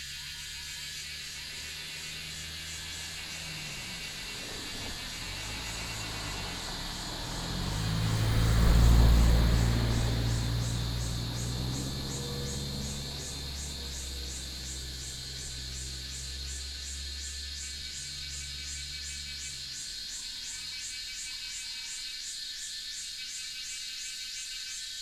Cicada sounds 0.0 - 25.0

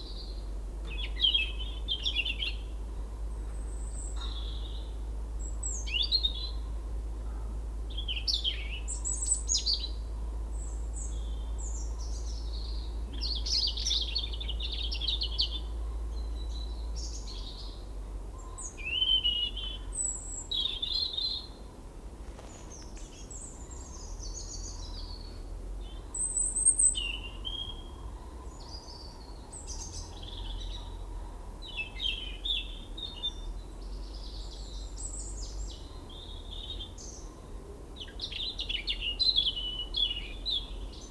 Two Robins sing 22.4 - 41.1

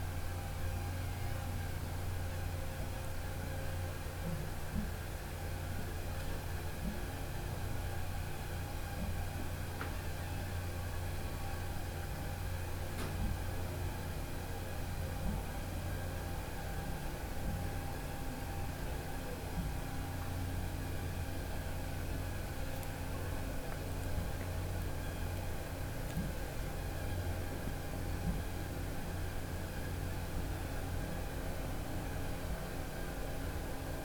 motor sounds from the rigs on the lake 0.0 - 34.0

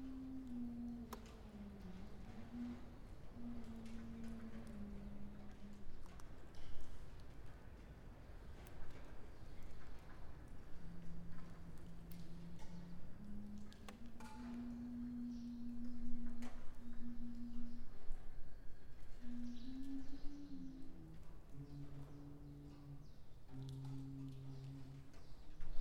humming some tunes worker's songs 0.0 - 7.7
humming some tunes worker's songs 8.3 - 25.8

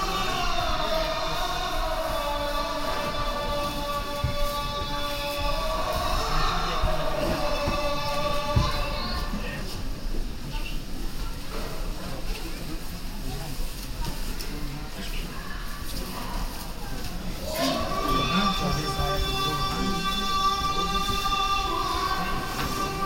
Believers entering 0.0 - 10.4
Believers entering 15.7 - 23.0

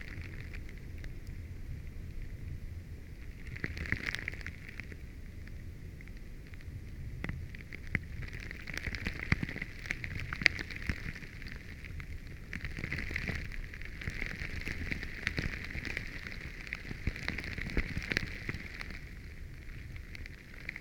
moving small pieces of ice on a lake 3.2 - 5.0
moving small pieces of ice on a lake 7.3 - 20.8

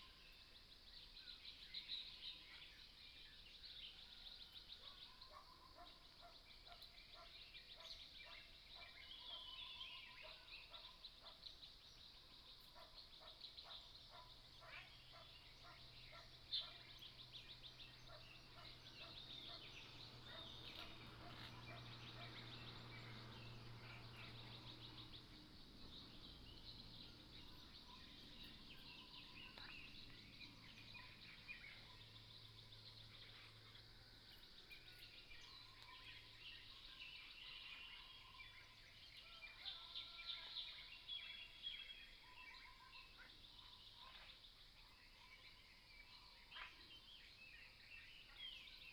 Bird calls 4.5 - 48.9
Frogs sound 12.2 - 34.6

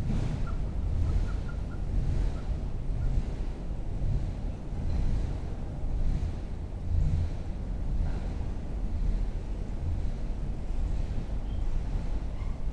train passing overhead 0.0 - 12.7

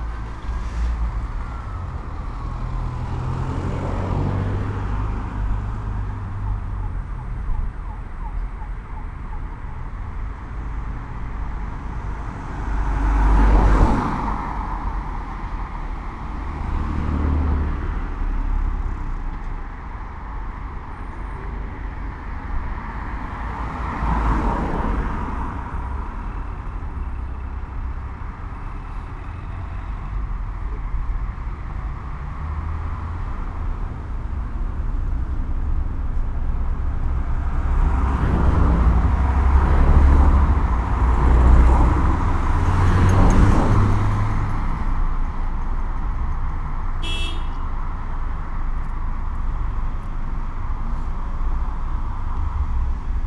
normal traffic 0.0 - 53.2
crossing tone 24.2 - 53.2

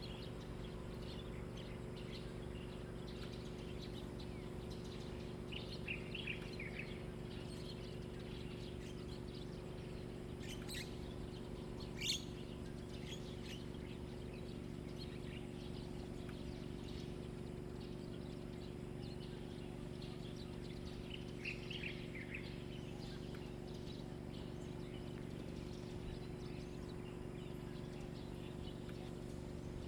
Birdsong 0.0 - 29.8

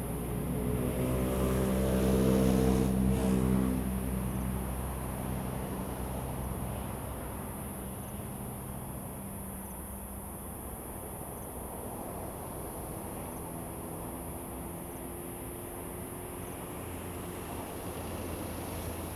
waves 16.8 - 19.1

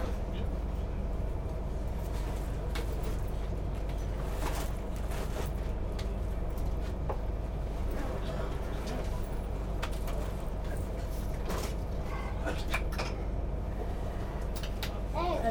train 0.0 - 15.5

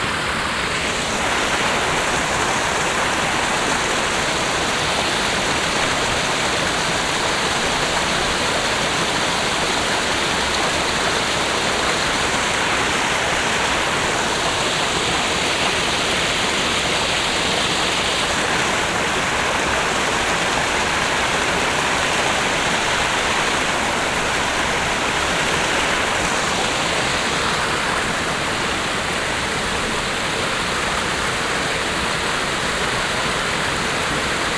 vivid fast stream 0.0 - 34.5

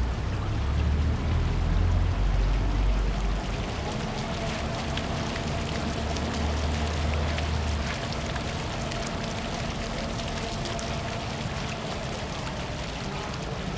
Traffic noise 0.0 - 7.9
Small fountains 0.0 - 13.7

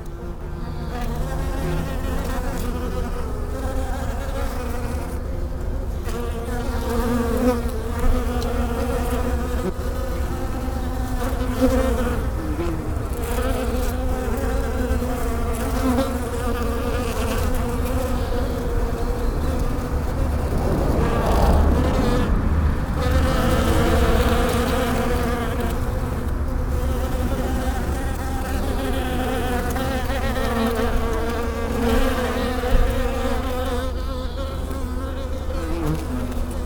bees in the Virginia creeper 0.0 - 36.6

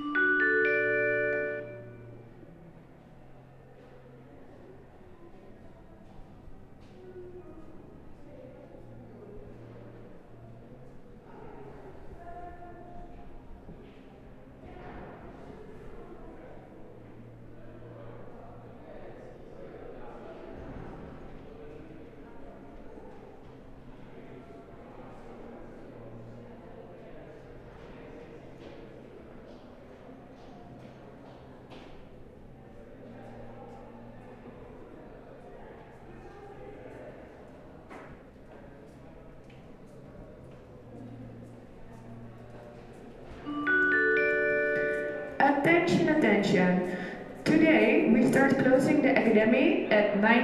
intercom made an anouncement 0.0 - 2.2
intercom made an anouncement 43.5 - 50.4

